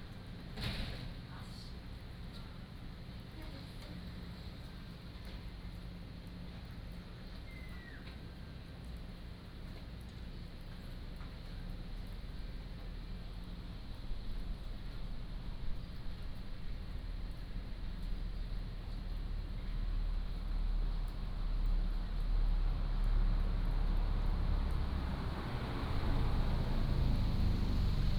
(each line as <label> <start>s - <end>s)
Rain 0.0s - 28.1s
Traffic Sound 22.4s - 28.1s